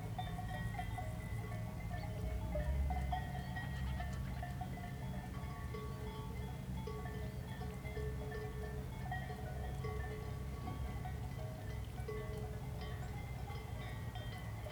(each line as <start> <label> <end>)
0.0 distant cow bells 14.7